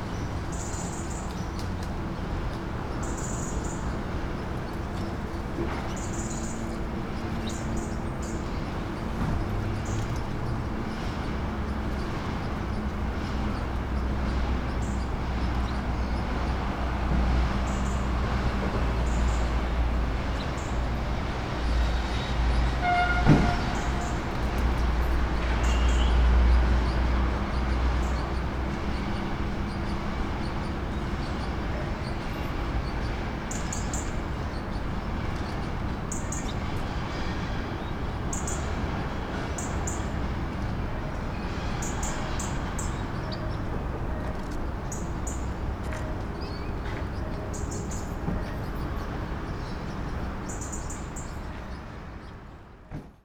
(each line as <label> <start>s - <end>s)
caged birds 0.0s - 52.8s
heavy traffic 0.0s - 53.2s
train passing 0.0s - 53.2s